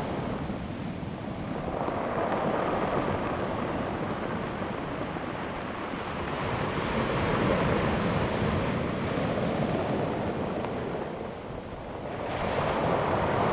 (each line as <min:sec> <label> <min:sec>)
0:05.3 waves 0:13.5